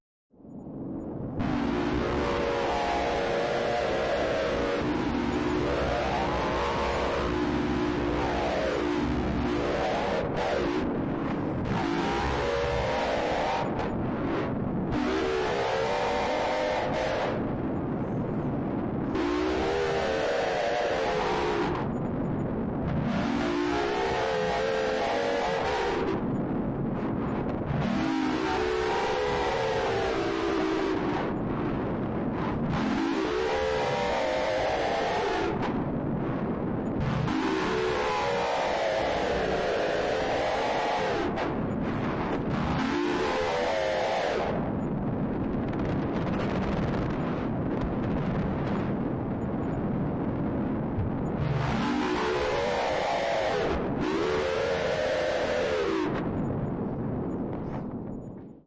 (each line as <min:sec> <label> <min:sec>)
0:00.6 Monster Distortion 0:58.6